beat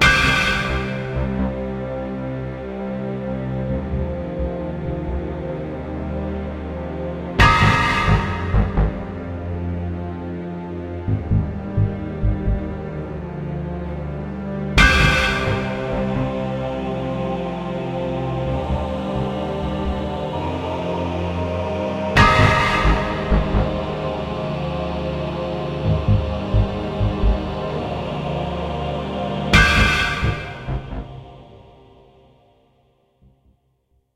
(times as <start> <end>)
7.4 9.3, 22.2 24.1, 29.6 31.2